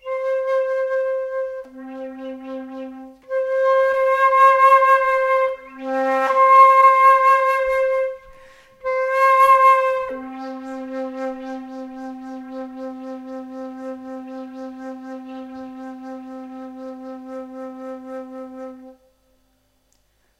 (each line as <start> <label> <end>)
0.0 Flute improvising with the note C 19.2